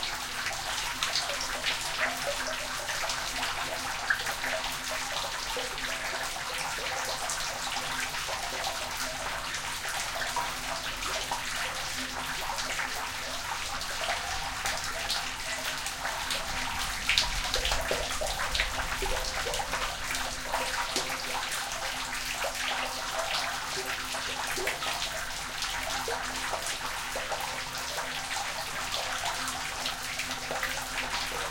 resonant water drain 0.0 - 31.5

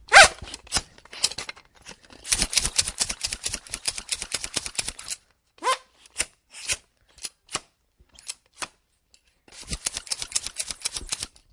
bicyclePump 2.2 - 5.1
bicyclePump 9.5 - 11.4

